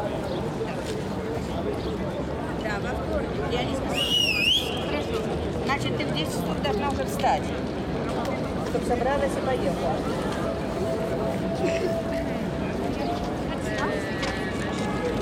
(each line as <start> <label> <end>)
0.0 in der Ferne S- und Regionalbahnen 15.2
5.8 Trams 15.2